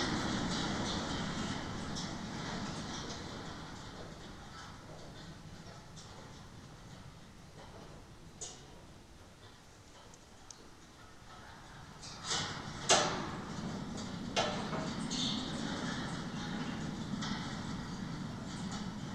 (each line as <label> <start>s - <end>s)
fence with vines and wind 0.0s - 19.1s